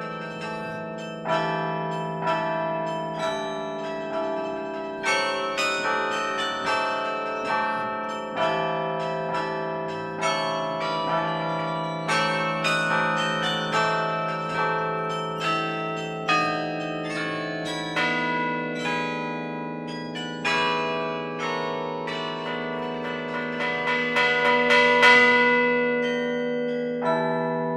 Carillon 0.0 - 27.7

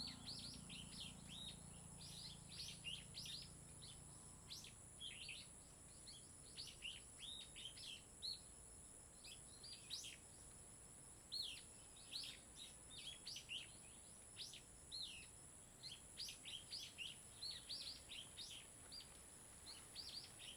Birds singing 0.0 - 8.0
Birds singing 19.7 - 20.5

